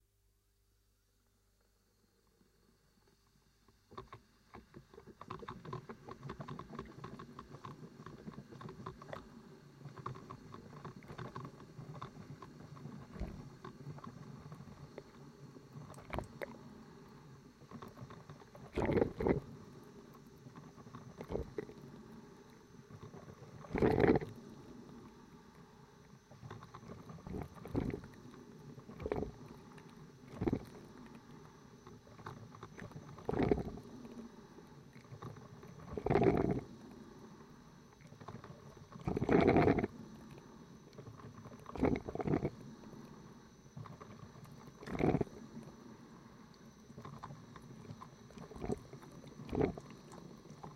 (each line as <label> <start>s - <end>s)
coffee brewing with an old filter machine 17.7s - 19.6s
coffee brewing with an old filter machine 20.4s - 21.9s
coffee brewing with an old filter machine 23.0s - 24.6s
coffee brewing with an old filter machine 26.4s - 34.2s
coffee brewing with an old filter machine 35.0s - 36.7s
coffee brewing with an old filter machine 38.0s - 39.9s
coffee brewing with an old filter machine 41.0s - 42.6s
coffee brewing with an old filter machine 43.5s - 45.4s
coffee brewing with an old filter machine 46.6s - 50.7s